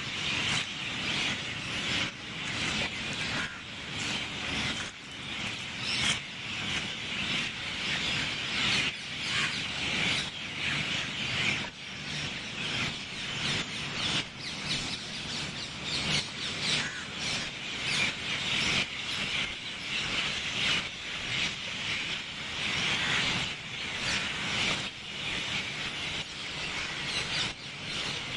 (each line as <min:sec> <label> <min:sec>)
0:00.0 garden birds 0:28.3